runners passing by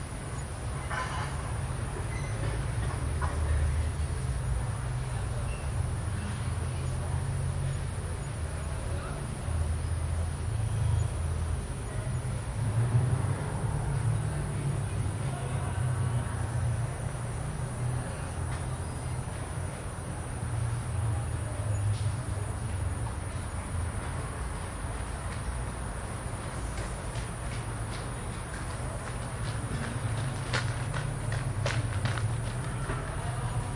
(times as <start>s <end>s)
23.2s 33.7s